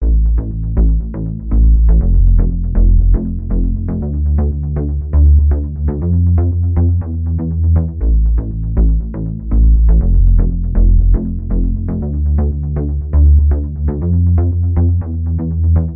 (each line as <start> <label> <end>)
0.0 bass 15.9